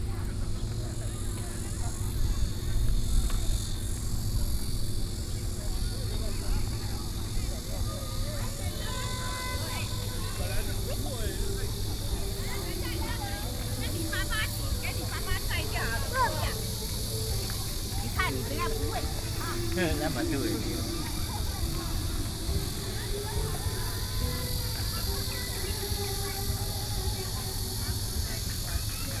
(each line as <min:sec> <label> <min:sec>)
0:00.0 Cicadas cry 0:29.2
0:00.0 Vendors selling ice cream 0:29.2